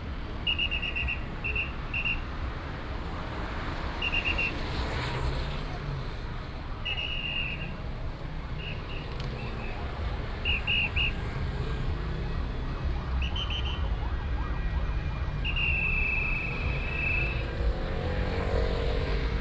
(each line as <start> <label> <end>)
0.0 Traffic sound 19.4
0.5 Whistle sound 2.2
10.4 Whistle sound 11.2
13.2 Whistle sound 14.0
15.4 Whistle sound 17.9